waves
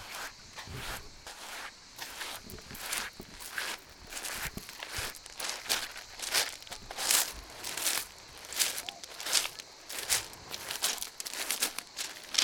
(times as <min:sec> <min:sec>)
0:07.2 0:12.4